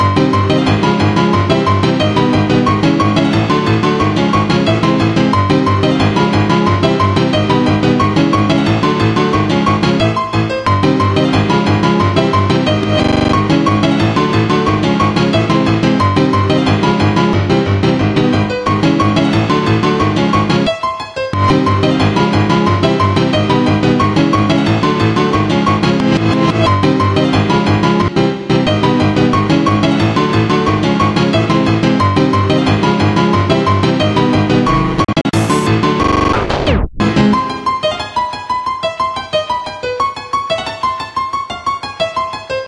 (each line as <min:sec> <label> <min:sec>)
0:00.0 piano 0:42.6